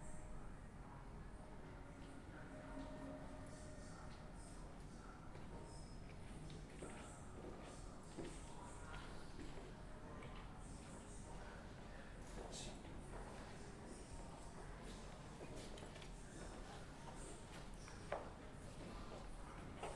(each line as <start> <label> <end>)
0.0 sounds from the museum exhibitions 19.9